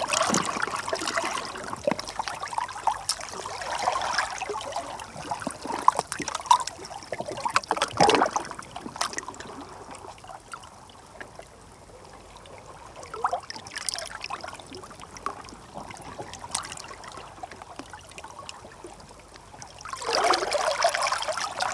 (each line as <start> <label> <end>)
0.0 Tide Pool 21.7